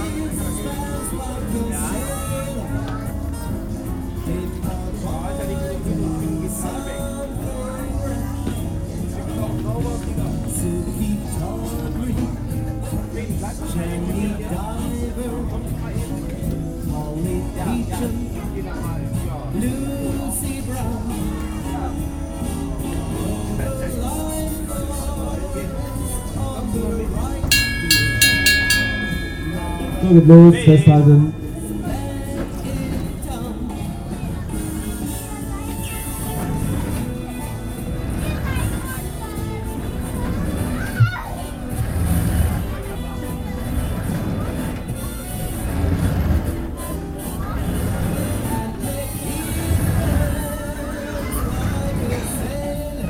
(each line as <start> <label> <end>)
0.0 music 53.0